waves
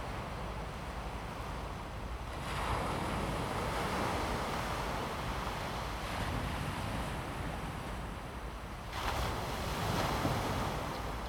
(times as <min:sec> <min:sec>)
0:02.4 0:11.2